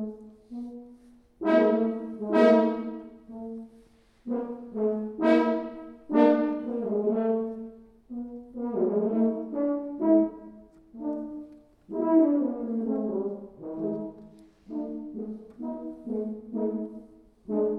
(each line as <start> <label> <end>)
0.0 French Horn 17.7